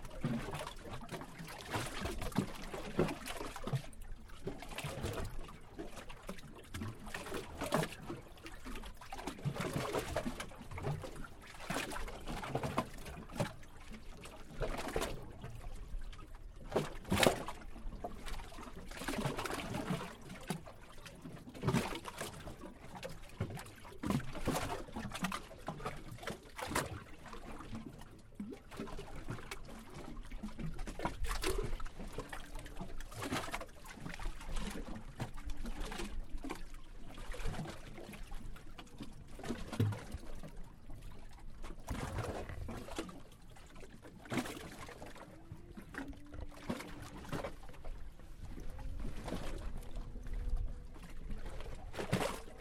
waves hit the Pier 0:16.1 - 0:52.6

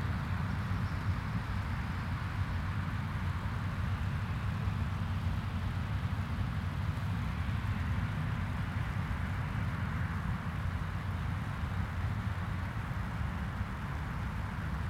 stream is full 0:00.0 - 0:14.8

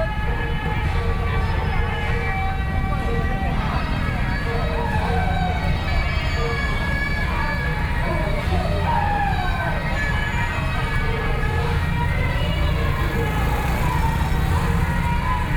Traditional temple festivals 0:00.0 - 0:15.5
Traffic Sound 0:00.0 - 0:15.5

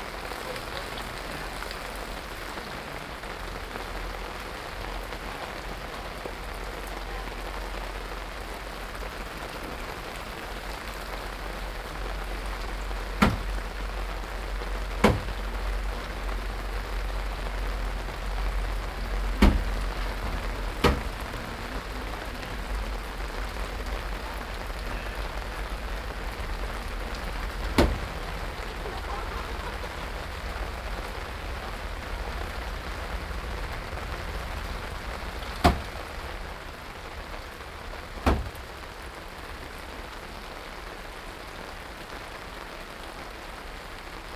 rain 0:00.0 - 0:44.3
construction 0:00.0 - 0:39.0
people 0:17.5 - 0:31.8

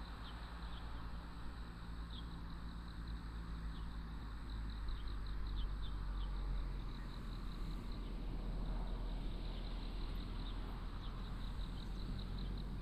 insects 0:00.1 - 0:12.8

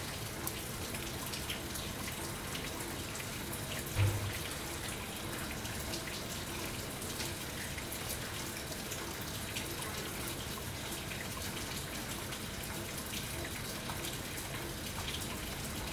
Lusaka rains 0:03.5 - 0:06.8

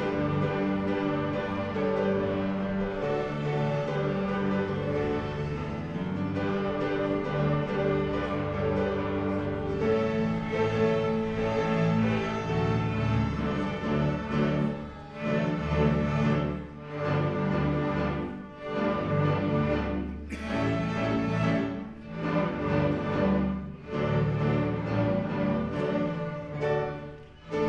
pupil string concert 0:00.0 - 0:27.6

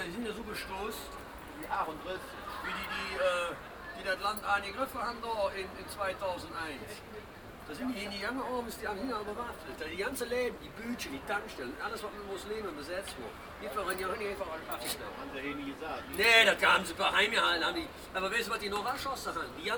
Taxifahrer Konversation 0:00.0 - 0:19.7

